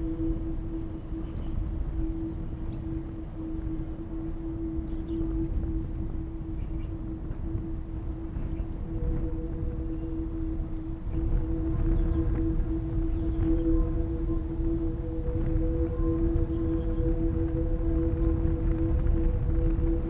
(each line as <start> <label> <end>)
0.0 wind 20.0